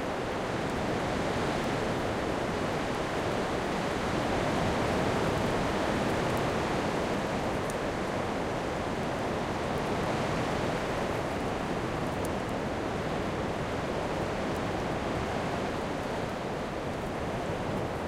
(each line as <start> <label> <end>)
0.0 wind 18.0